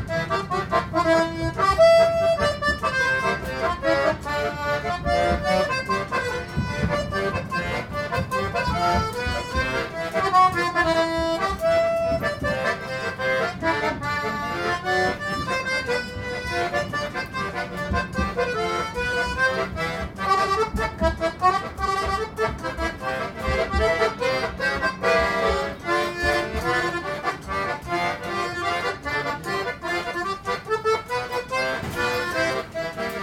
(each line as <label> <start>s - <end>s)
Accordionist in the tram 97 0.0s - 33.2s